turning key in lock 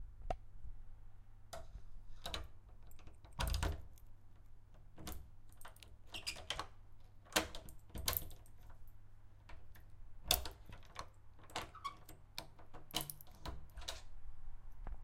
2.2 4.1, 4.7 14.1

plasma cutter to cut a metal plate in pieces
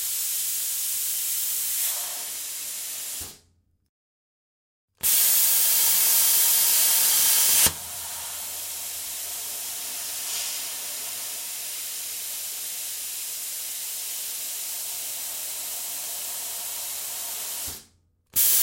5.0 11.8

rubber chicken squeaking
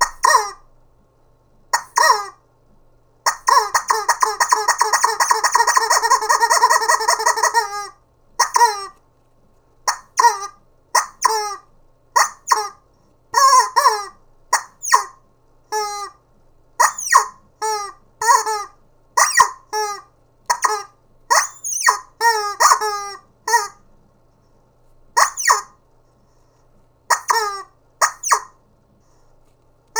0.0 0.6, 1.8 2.4, 3.3 9.0, 9.9 11.6, 12.2 12.8, 13.4 15.2, 15.8 16.2, 16.8 23.8, 25.2 25.8, 27.1 28.6

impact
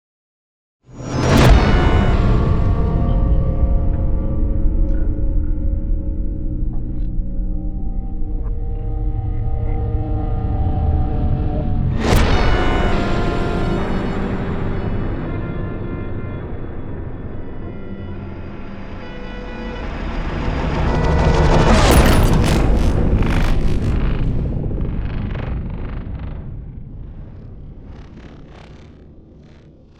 21.3 28.8

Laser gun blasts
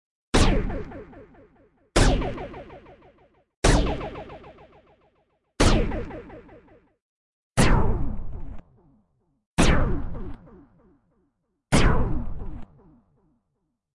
2.0 4.8

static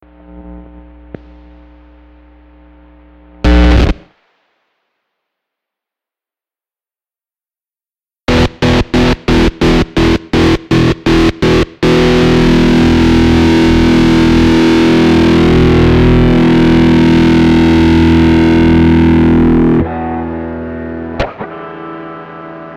0.0 5.4, 8.3 19.8

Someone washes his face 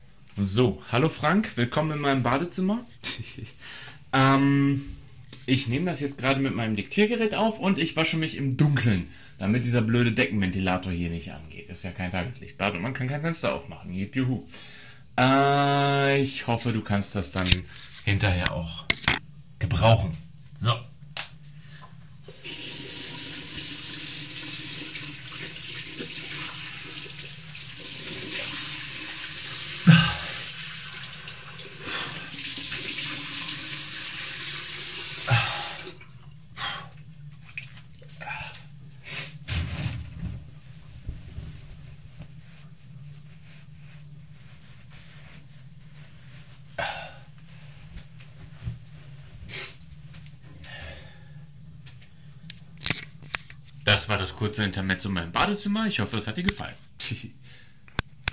22.2 33.8, 35.2 36.0, 36.6 38.6

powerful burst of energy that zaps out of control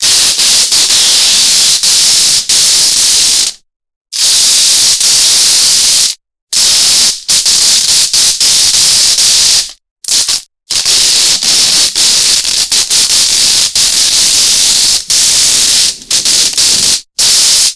10.3 17.7

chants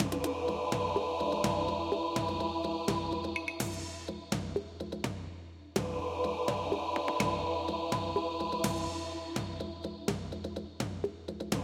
0.0 4.4, 5.8 10.4

